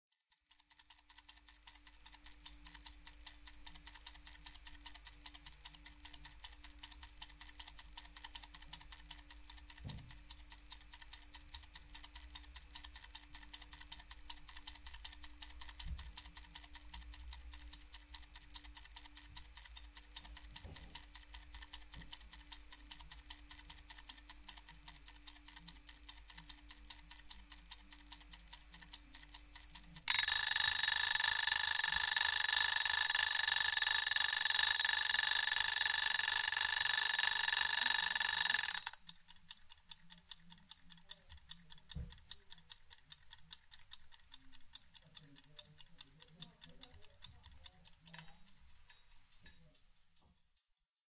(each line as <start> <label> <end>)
0.3 Kitchen cooking timer 29.0
29.6 Kitchen cooking timer 39.6
30.1 bell 39.0
40.3 Kitchen cooking timer 50.5